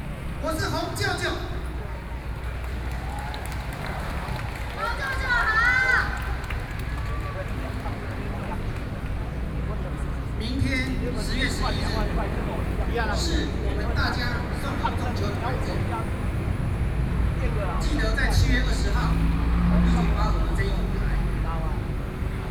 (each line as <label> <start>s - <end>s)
Protest Speech 0.3s - 22.5s